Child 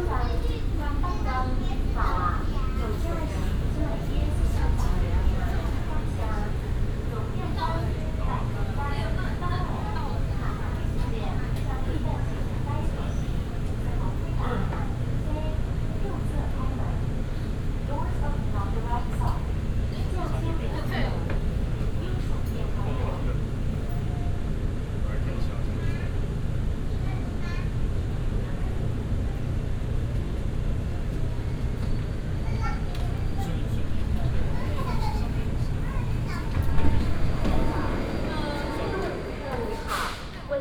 32.4s 40.1s

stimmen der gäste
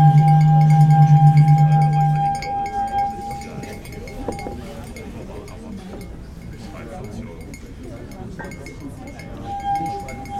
0.0s 6.7s

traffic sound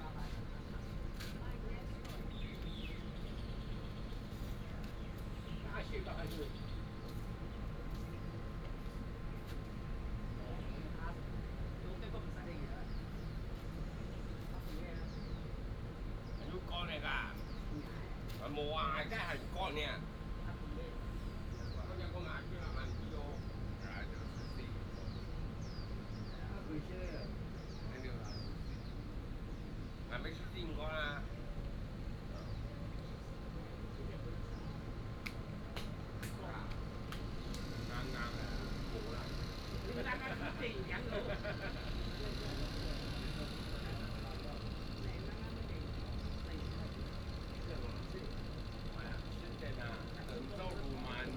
29.1s 51.3s

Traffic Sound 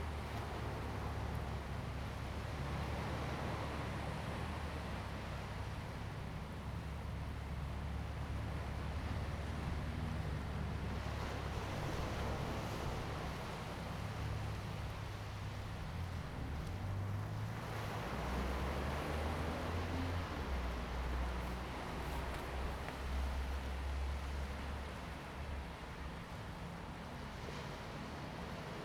6.9s 26.8s

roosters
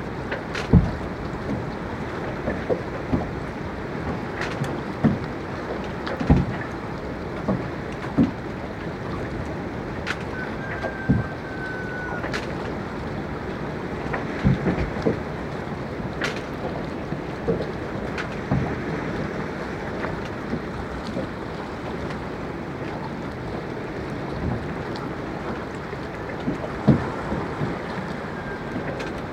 10.3s 12.2s

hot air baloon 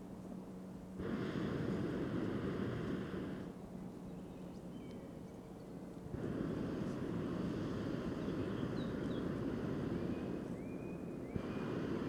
1.0s 3.6s, 6.0s 12.0s

